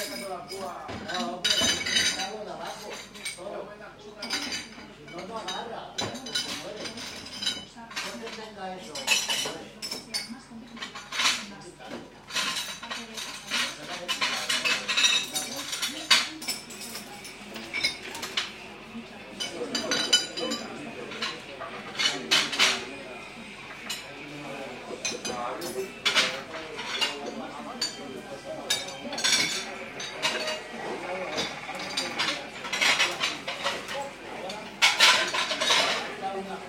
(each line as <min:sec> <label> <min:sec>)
0:00.0 dishes 0:03.5
0:00.0 conversations 0:36.6
0:00.0 television in the background 0:36.6
0:04.2 dishes 0:36.6